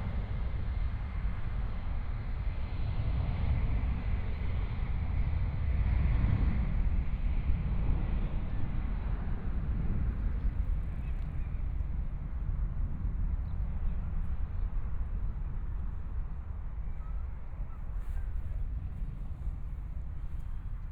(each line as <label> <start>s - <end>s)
distant sound of aircraft taking off 0.0s - 20.9s
walking in the Riverside Park 8.7s - 20.9s